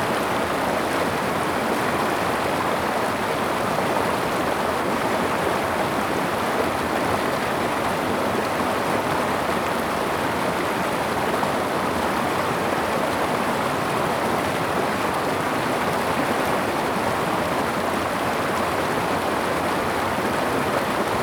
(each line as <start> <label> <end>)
0.0 Brook 21.2